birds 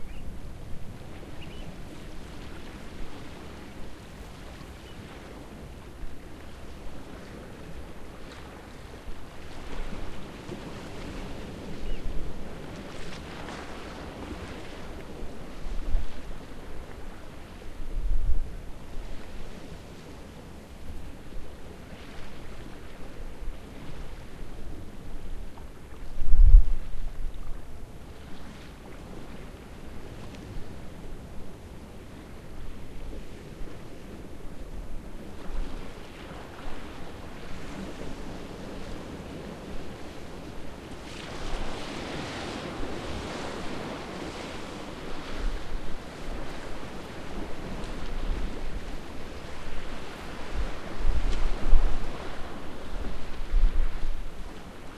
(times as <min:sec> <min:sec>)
0:01.3 0:01.8